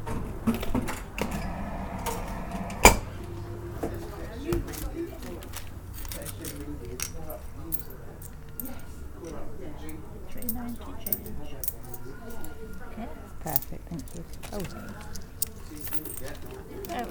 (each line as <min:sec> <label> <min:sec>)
0:00.0 buses idling outside 0:04.5
0:00.0 glass display unit with wooden doors 0:17.1
0:00.9 pneumatic change chute in operation 0:03.6